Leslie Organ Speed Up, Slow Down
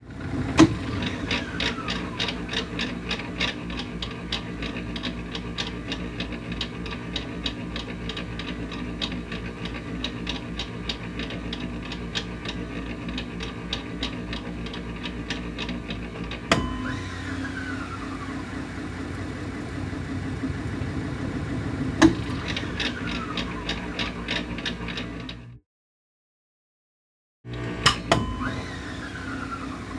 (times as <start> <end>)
17.4 24.2